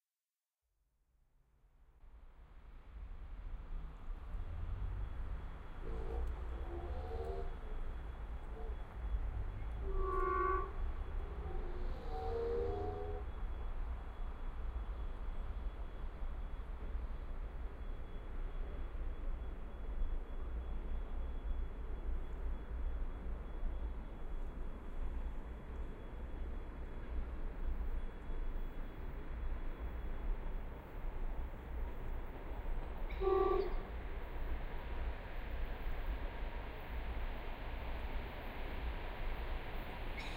Train arriving 4.2 - 40.3

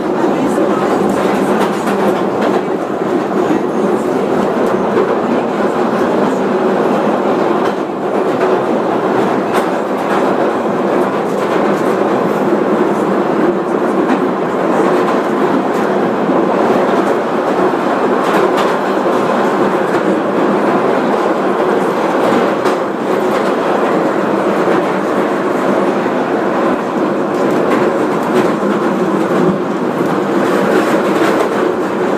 short ride on the London Tube 0.0 - 32.1

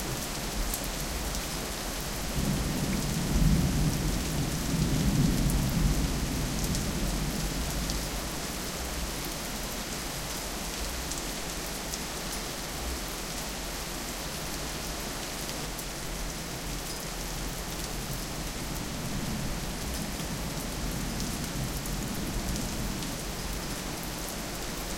heavy rain 0.0 - 24.9

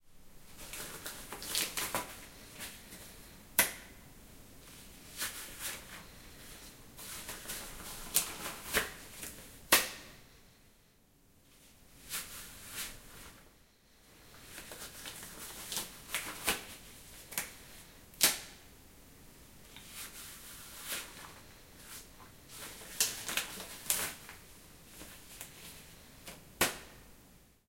putting on/taking of a rubber disposable glove 0.4 - 4.0
putting on/taking of a rubber disposable glove 4.6 - 10.4
putting on/taking of a rubber disposable glove 11.5 - 13.4
putting on/taking of a rubber disposable glove 14.2 - 18.7
putting on/taking of a rubber disposable glove 19.6 - 27.1

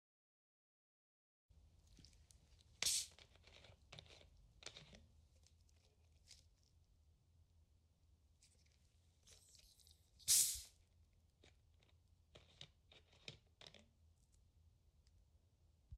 Opening a Soda Bottle 2.8 - 5.0
Opening a Soda Bottle 10.3 - 10.7

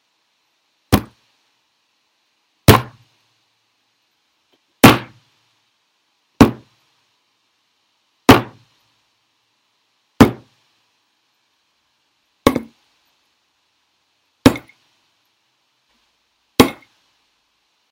hits of head on solid surface 0.9 - 1.2
hits of head on solid surface 2.7 - 3.0
hits of head on solid surface 4.8 - 5.2
hits of head on solid surface 6.4 - 6.7
hits of head on solid surface 8.3 - 8.6
hits of head on solid surface 10.2 - 10.5
hits of head on solid surface 12.5 - 12.8
hits of head on solid surface 14.4 - 14.7
hits of head on solid surface 16.6 - 16.9

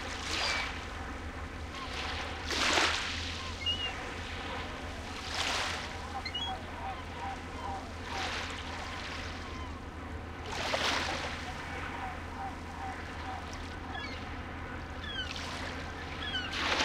waves splashing on the beach 0.0 - 1.1
seagull screechings 0.3 - 0.8
waves splashing on the beach 1.7 - 9.7
seagull screechings 3.3 - 10.0
waves splashing on the beach 10.4 - 14.1
seagull screechings 10.6 - 16.8
waves splashing on the beach 15.1 - 16.8

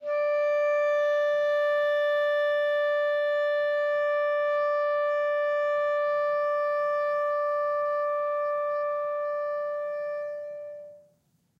clarinet 0.0 - 11.2

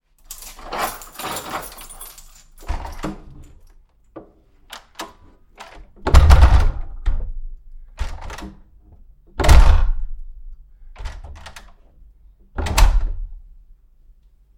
Front wood door open close 0.5 - 3.6
Front wood door open close 4.7 - 7.4
Front wood door open close 8.0 - 8.7
Front wood door open close 9.3 - 10.2
Front wood door open close 11.0 - 11.8
Front wood door open close 12.5 - 13.4

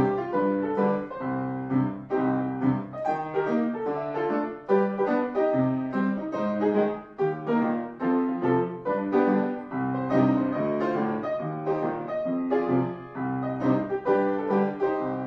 Piano 0.0 - 15.2

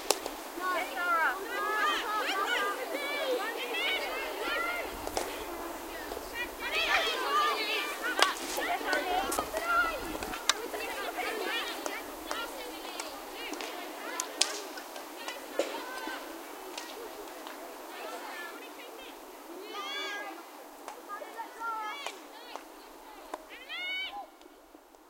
girls hockey match 0.0 - 25.0

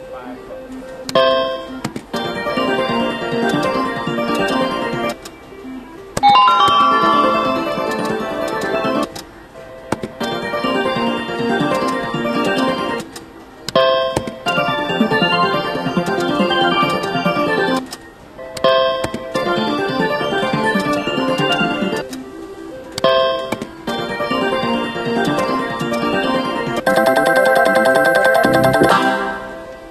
Slot machine noises 0.8 - 29.9
Wheel of fortune bell 6.2 - 9.0
spinning wheel 26.9 - 29.3
Wheel of fortune bell 26.9 - 29.4

